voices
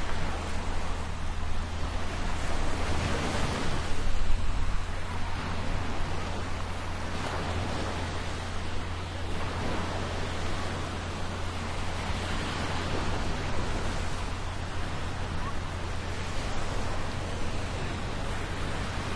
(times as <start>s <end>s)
8.8s 19.1s